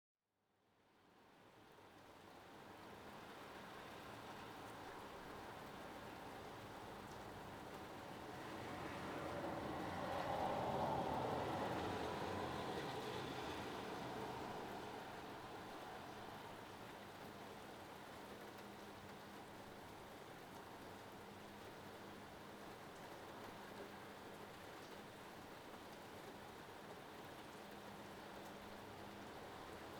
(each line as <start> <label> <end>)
0.6 rain 29.9
0.9 gentle wind 29.9
7.5 cars 17.2